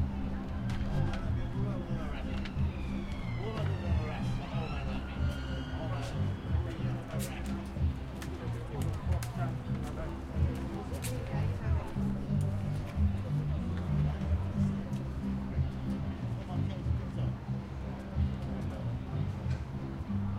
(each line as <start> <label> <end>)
0.0 Distant music 20.3
0.0 Traffic 20.3
0.0 people walking past 20.3